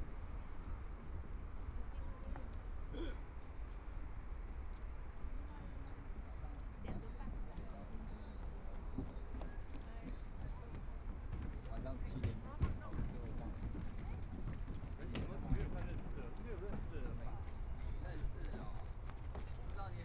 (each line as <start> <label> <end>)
0.1 walking in the Park 20.0